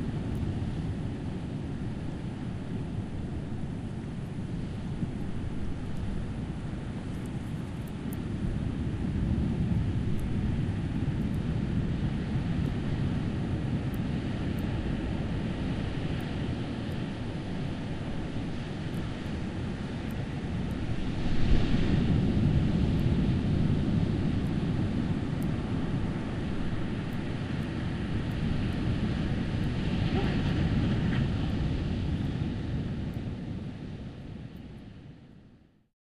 wind 0.0 - 35.9

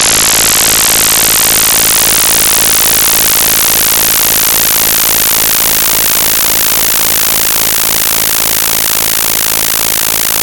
100Hz sine-waves, rotating around your head 0.0 - 10.4

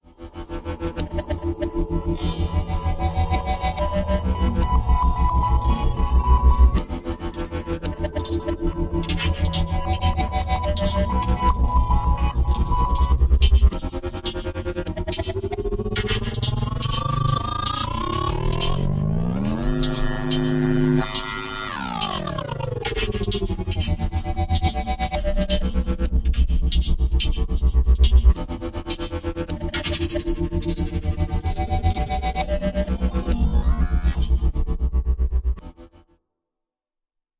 synth 16.9 - 23.0
synth 32.2 - 34.4

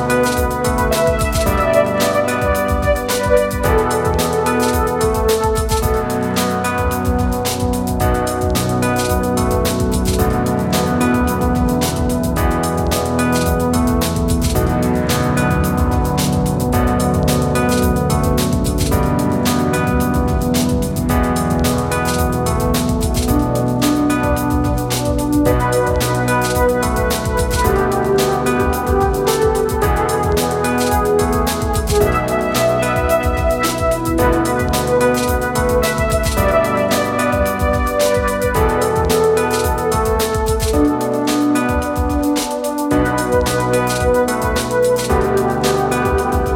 musical loop 0.0 - 46.5

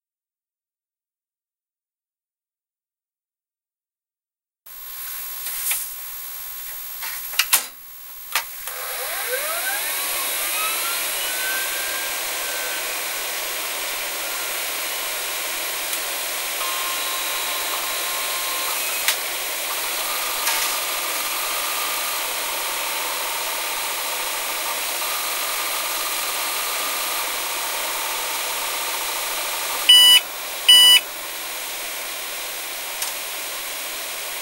computer powering on 8.6 - 31.0

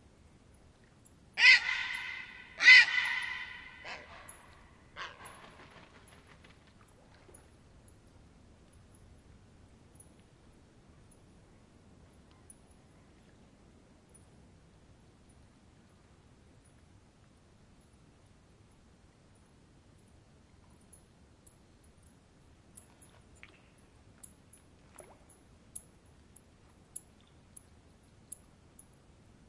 vulture 1.4 - 6.6

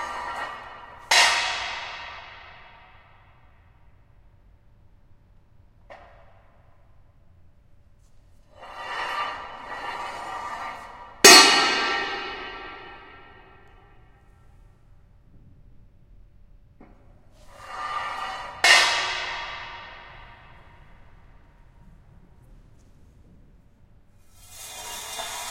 drag & drop of heavy metal poles 0.0 - 2.8
drag & drop of heavy metal poles 8.4 - 13.6
drag & drop of heavy metal poles 17.4 - 20.9
drag & drop of heavy metal poles 24.2 - 25.5

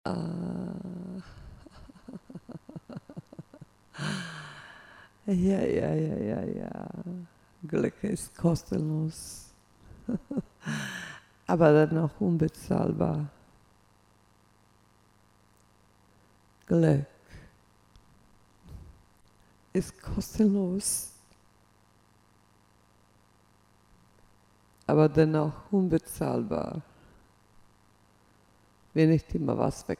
voice 0.1 - 4.4
voice 5.3 - 9.5
voice 10.1 - 13.4
voice 16.7 - 17.2
voice 19.8 - 21.1
voice 24.9 - 26.8
voice 29.0 - 29.9

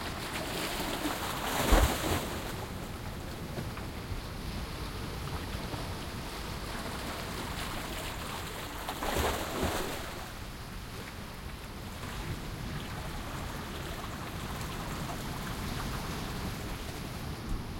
distant waves 0.0 - 17.7
water streaming through a small canal in the rocks 0.0 - 17.7

